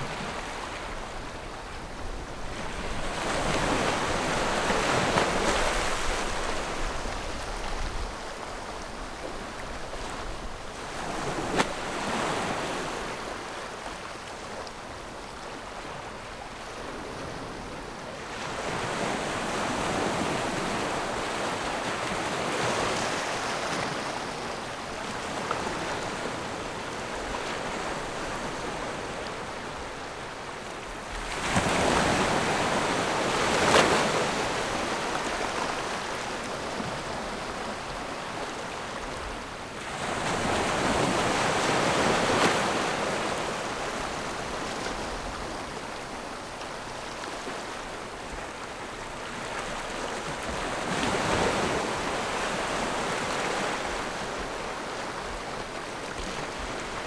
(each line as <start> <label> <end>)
0.0 waves 57.0